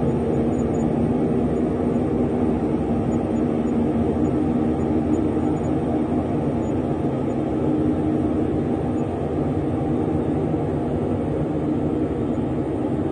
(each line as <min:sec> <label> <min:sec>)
0:00.0 alien outer space helicopter flying over 0:13.1